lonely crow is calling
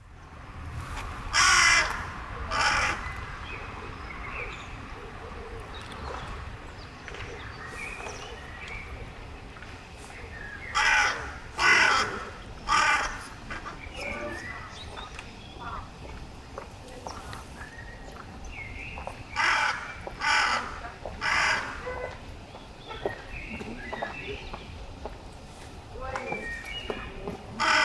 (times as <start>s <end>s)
1.2s 4.2s, 10.7s 14.3s, 19.4s 22.2s, 27.5s 27.8s